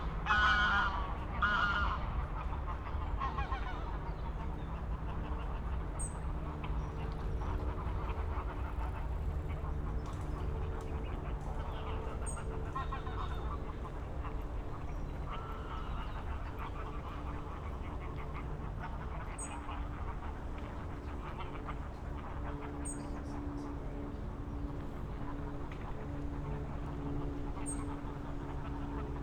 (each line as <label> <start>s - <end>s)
many geese gathering at the pond 0.0s - 24.1s
aircraft 0.0s - 29.2s
many geese gathering at the pond 25.0s - 29.2s